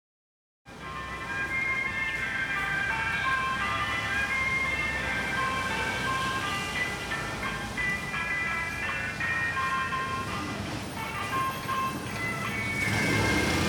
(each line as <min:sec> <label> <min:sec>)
0:00.7 Traffic Sound 0:13.6